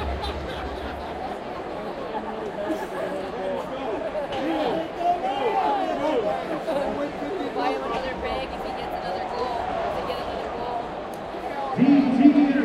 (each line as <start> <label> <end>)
0.0 crowd sounds 12.6
11.4 Ice hockey match announcement 12.6